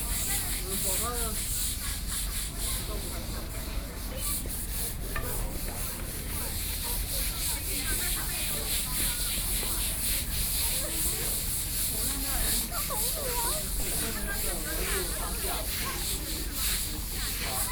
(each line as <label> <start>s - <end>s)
Brush 0.0s - 17.7s